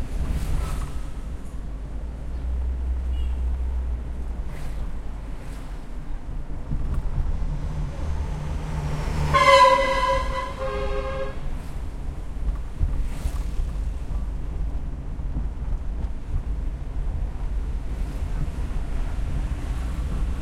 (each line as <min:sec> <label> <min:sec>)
0:00.0 cars pass by 0:20.4
0:09.2 honks 0:11.5